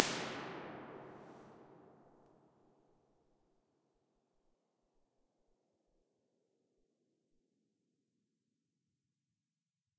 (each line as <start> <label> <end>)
0.0 reverb 2.0